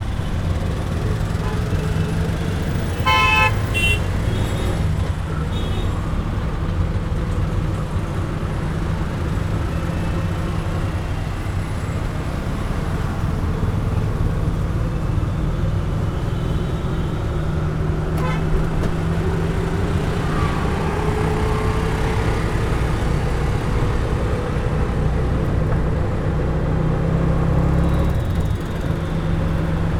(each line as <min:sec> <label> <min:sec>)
0:00.0 Ride in TukTuk 0:29.9
0:00.0 TRAFFIC 0:29.9
0:03.0 HORN 0:04.0